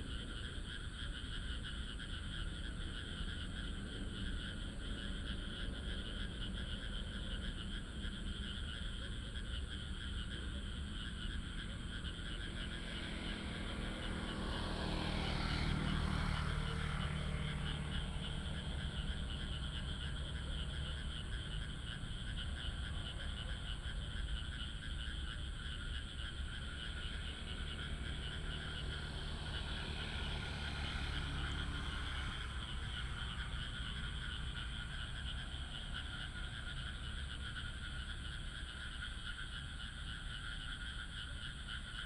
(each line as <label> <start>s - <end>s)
traffic sound 9.2s - 42.0s